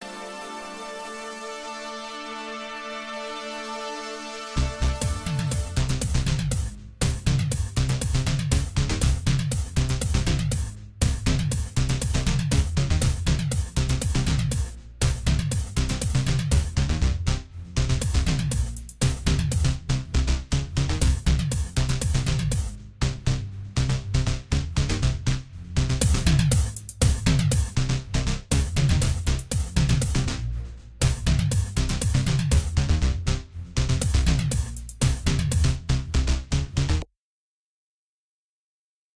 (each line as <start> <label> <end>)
5.0 drumset 16.8
26.0 drumset 27.8
28.5 drumset 30.3
31.0 drumset 32.8
34.0 drumset 35.7